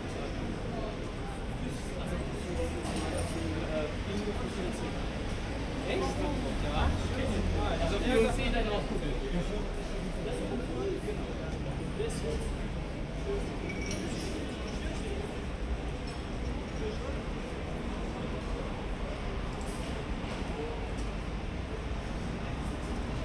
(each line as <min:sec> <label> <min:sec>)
0:00.0 people talking 0:23.2